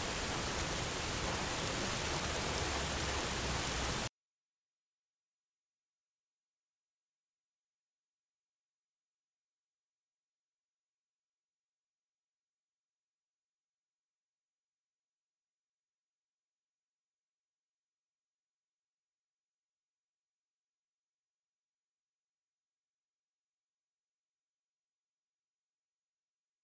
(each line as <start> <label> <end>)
0.0 Rain 4.1
0.0 Thunder 4.1